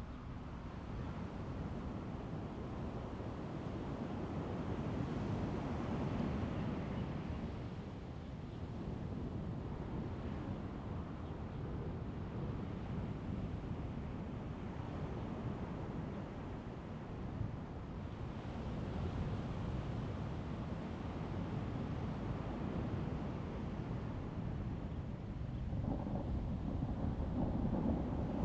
25.4s Thunder 28.4s

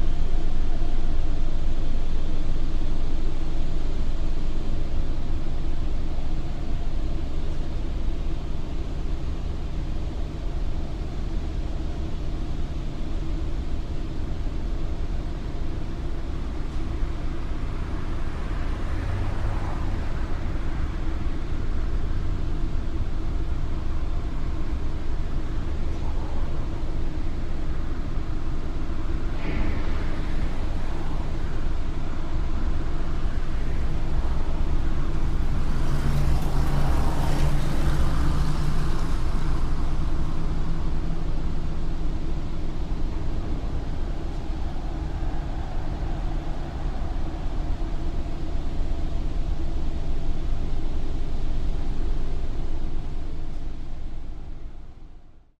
0.0s blast furnace plant 55.5s
43.0s noise of the crowd at a soccer match 50.0s

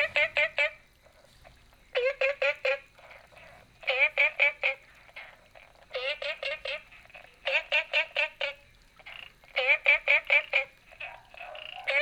0.0s All kinds of frogs chirping 12.0s

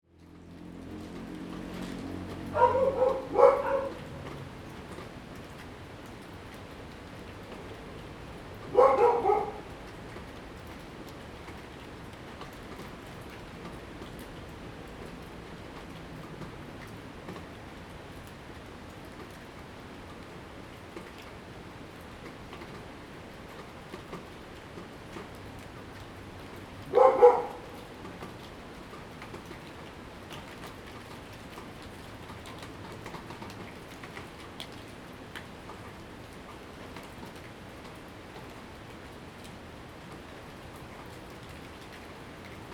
0.1s raindrop 42.7s
2.4s Dogs barking 4.5s
8.6s Dogs barking 9.9s
26.8s Dogs barking 28.0s

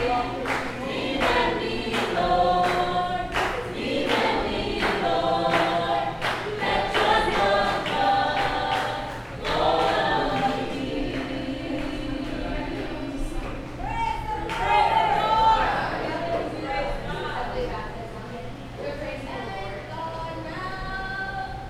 0.0s baptismal singing 13.8s

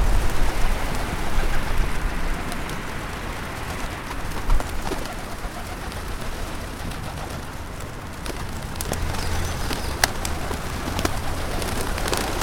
0.0s Feeding the pigeons 12.4s
0.0s city traffic sounds 12.4s

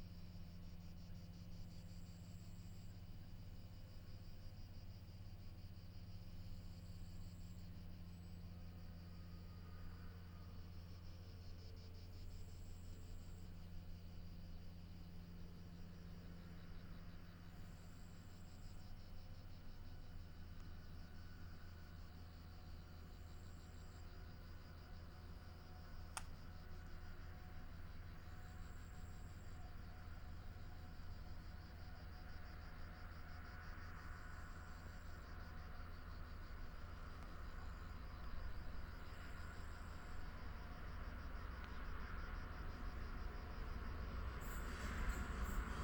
42.6s Electric locomotive 45.8s
42.6s electric passenger train 45.8s

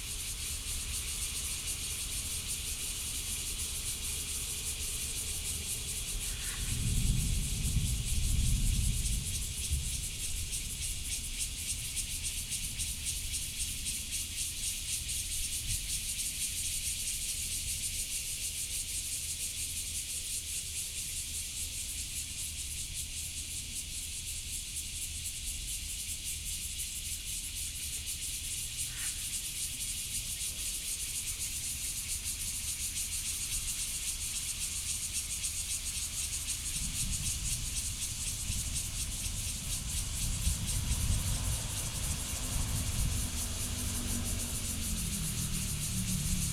0.0s Cicadas 46.5s
6.6s Distant sound of thunder 10.7s
38.1s train traveling through 46.5s

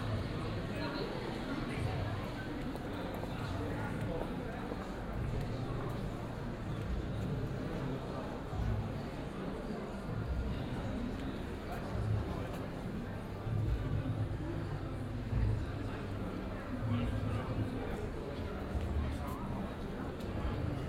0.0s people in restaurants chat 20.8s

